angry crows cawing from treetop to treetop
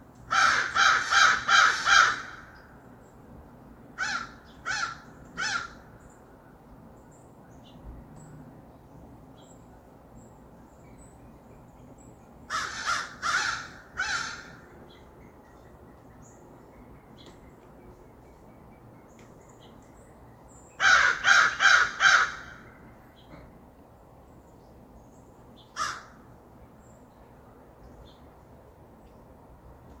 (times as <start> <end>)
0.3 2.8, 4.0 6.5, 12.5 14.8, 20.8 23.0, 25.7 26.3